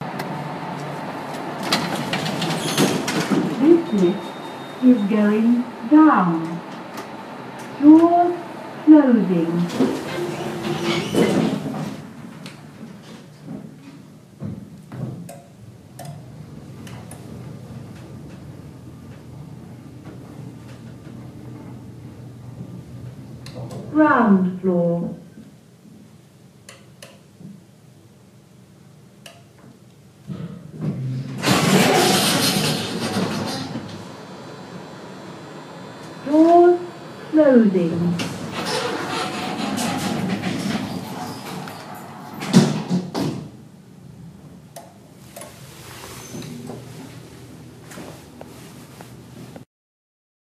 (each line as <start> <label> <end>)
30.8 lift 43.2